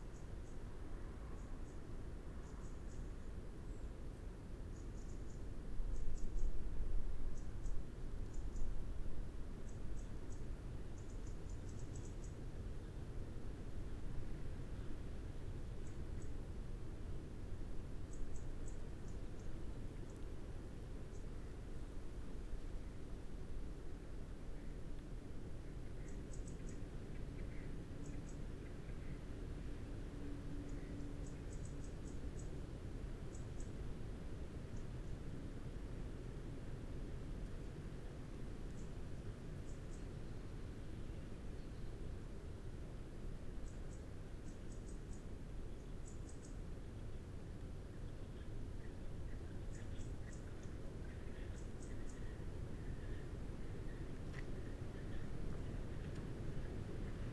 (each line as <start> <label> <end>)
0.0 wind through trees 57.3